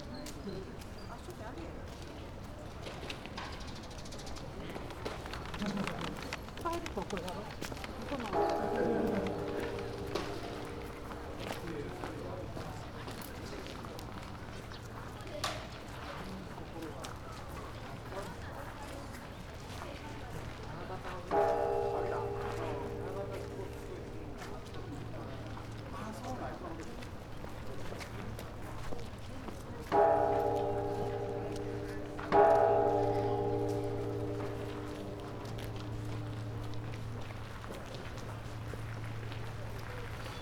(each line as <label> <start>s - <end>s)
conversations 0.0s - 40.4s
visitors passing 5.4s - 12.8s
bell in the distance 8.3s - 12.8s
bell in the distance 21.3s - 28.7s
visitors passing 21.3s - 40.4s
steps 29.9s - 40.3s
bell in the distance 29.9s - 40.4s